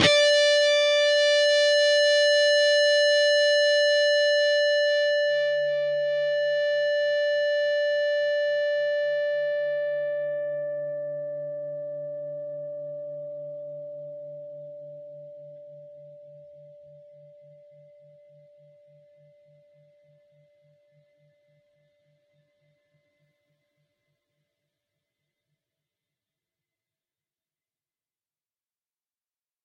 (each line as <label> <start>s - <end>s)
distorted guitar 0.0s - 21.0s